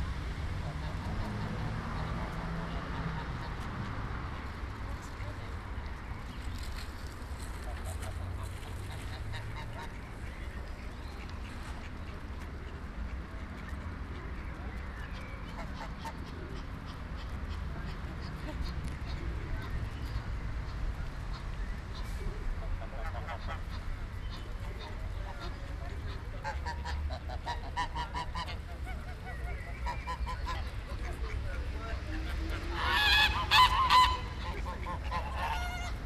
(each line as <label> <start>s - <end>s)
schwäne an der promenade 0.0s - 36.0s